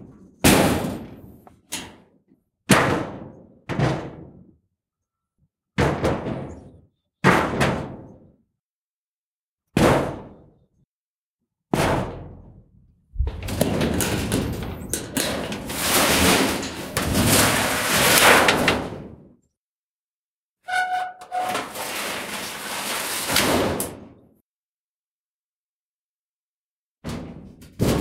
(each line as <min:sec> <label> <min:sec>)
0:00.1 Metal Shed Door - Hits, Clangs, Rattle 0:02.0
0:02.7 Metal Shed Door - Hits, Clangs, Rattle 0:04.5
0:05.8 Metal Shed Door - Hits, Clangs, Rattle 0:08.3
0:11.8 Metal Shed Door - Hits, Clangs, Rattle 0:19.3
0:13.2 dragging 0:18.9
0:20.7 squeek 0:22.0
0:20.7 Metal Shed Door - Hits, Clangs, Rattle 0:24.2
0:21.2 dragging 0:23.4
0:27.0 Metal Shed Door - Hits, Clangs, Rattle 0:28.0